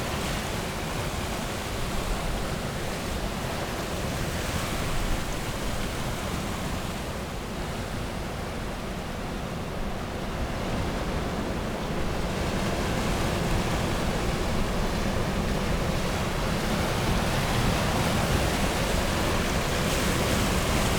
outgoing tide 0.0 - 20.9

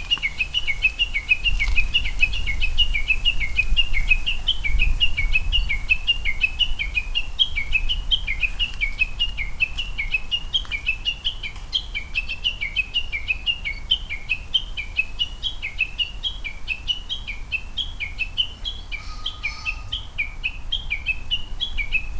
Japanese bush warbler 0.0 - 22.1
pheasant 0.0 - 22.1
crow 18.9 - 20.0

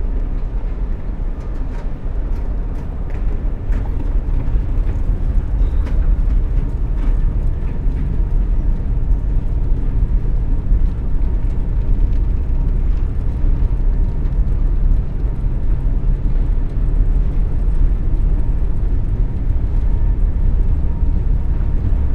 escalators, going to the top and making drone sounds 0.0 - 22.1

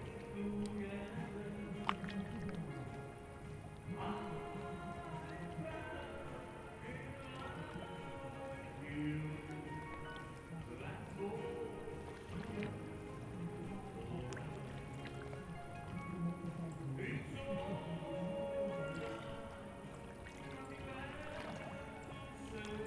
slow waves 0.0 - 22.8
terrace singer is performing a song 0.0 - 22.8

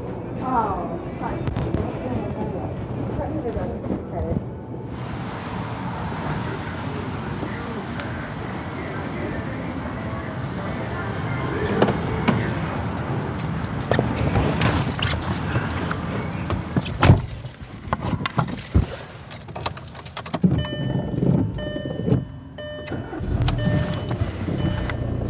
road noise 12.4 - 21.8

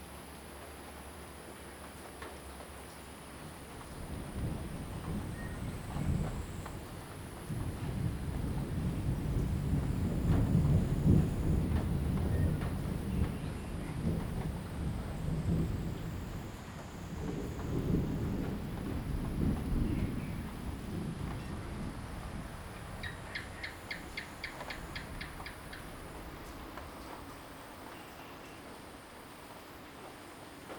Rainy Day 0.0 - 30.7
Insect sounds 22.1 - 30.5
Frog calls 23.0 - 25.9

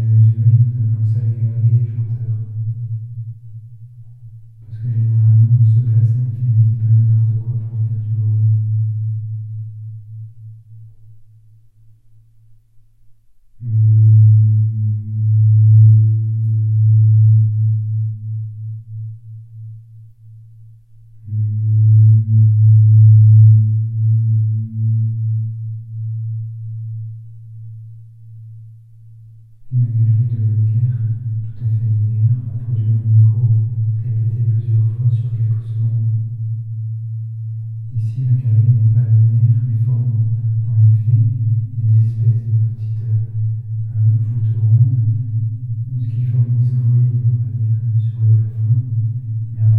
talking into the tunnel 0.0 - 2.6
talking into the tunnel 4.6 - 8.6
talking into the tunnel 29.7 - 36.1
talking into the tunnel 37.9 - 49.7

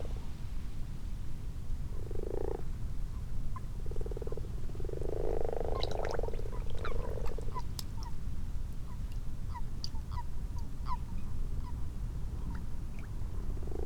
common frogs 1.8 - 13.8
common toads 1.9 - 2.7
common toads 3.6 - 11.8
common toads 12.5 - 13.8

